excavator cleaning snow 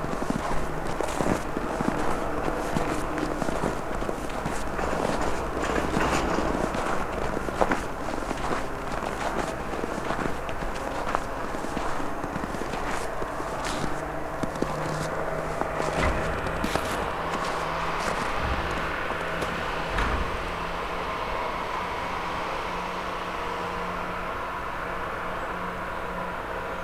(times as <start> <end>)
0.0 20.9